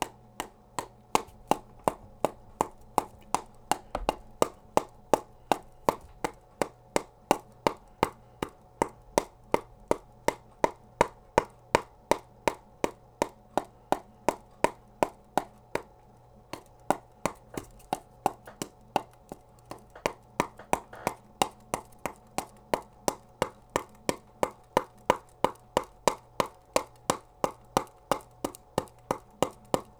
0.0s playing with a paddleball 29.9s

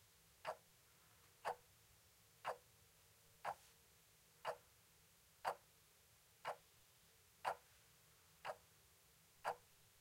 0.4s soft sounding alarm clock 0.7s
0.4s tick tock 0.6s
1.4s soft sounding alarm clock 1.7s
1.4s tick tock 1.6s
2.4s soft sounding alarm clock 2.7s
2.4s tick tock 2.6s
3.4s soft sounding alarm clock 3.7s
4.4s soft sounding alarm clock 4.8s
4.4s tick tock 4.6s
5.4s soft sounding alarm clock 5.7s
5.4s tick tock 5.6s
6.4s soft sounding alarm clock 6.7s
6.4s tick tock 6.6s
7.4s soft sounding alarm clock 7.8s
8.4s soft sounding alarm clock 8.7s
8.4s tick tock 8.6s
9.4s soft sounding alarm clock 9.8s

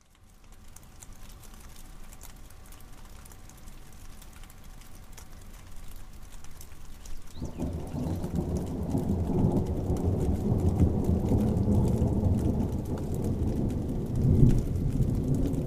0.0s rain 15.6s
7.4s thunder roll 15.6s

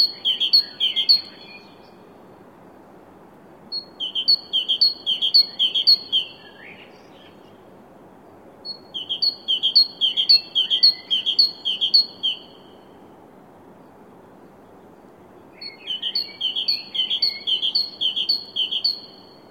0.0s Bird singing 2.1s
3.7s Bird singing 7.6s
8.6s Bird singing 13.0s
15.4s Bird singing 19.5s

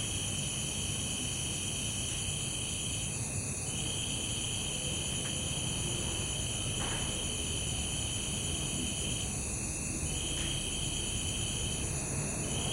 0.0s Crickets 12.7s

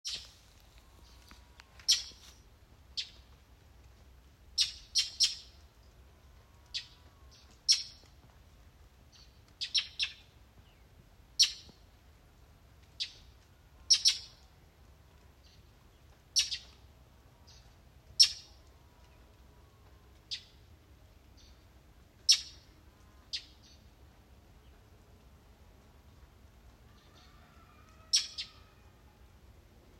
26.8s rooster 29.3s
26.9s Bird 28.9s

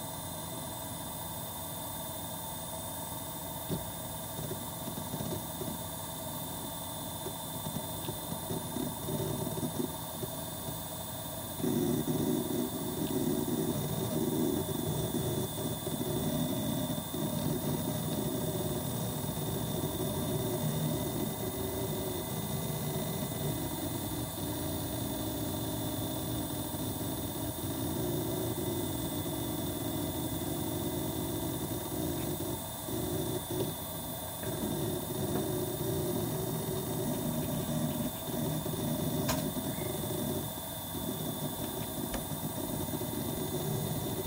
7.2s hard drives 11.0s
11.6s hard drives 44.2s

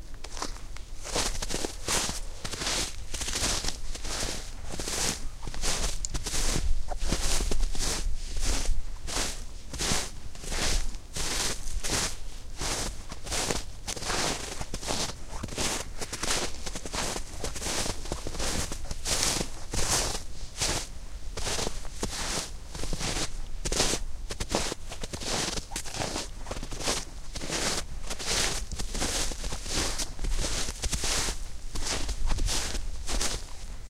0.0s footsteps in snow 33.8s

